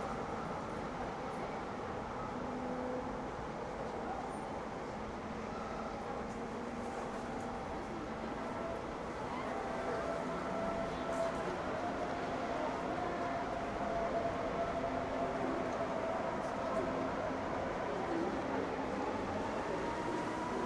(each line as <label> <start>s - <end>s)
ICE train passing trough Siegburg station 0.0s - 20.6s